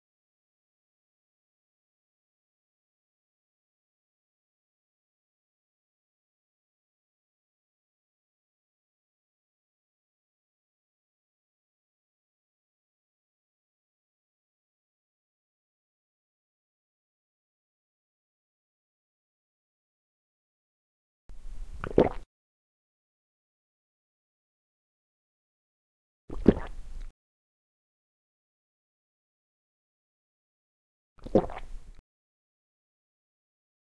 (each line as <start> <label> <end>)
21.7 Swallow liquid 22.3
26.3 Swallow liquid 27.1
31.2 Swallow liquid 32.0